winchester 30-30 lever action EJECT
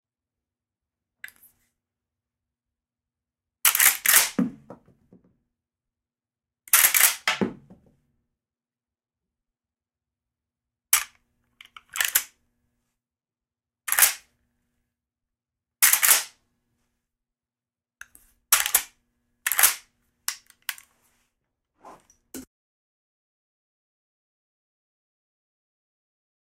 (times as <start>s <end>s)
3.7s 4.8s, 6.7s 7.6s, 11.8s 12.3s, 13.9s 14.2s, 15.8s 16.3s, 18.6s 18.9s, 19.5s 19.8s